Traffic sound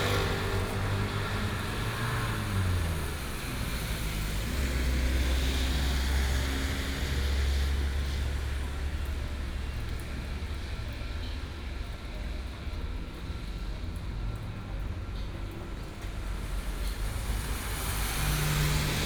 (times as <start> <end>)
0.0 9.8, 14.3 19.0